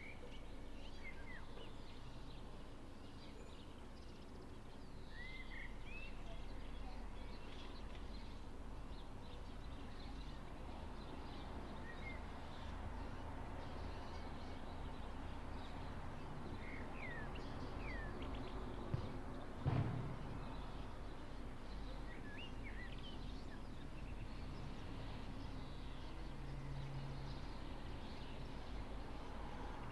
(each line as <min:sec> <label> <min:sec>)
0:00.0 Birds 0:29.9